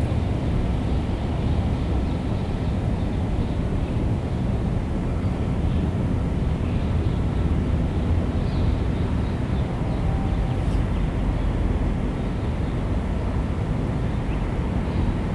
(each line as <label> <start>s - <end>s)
Birds 6.6s - 15.3s